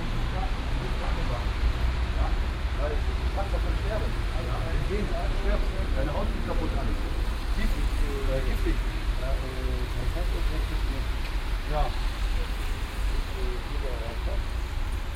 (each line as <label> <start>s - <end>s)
car sounds 0.0s - 15.1s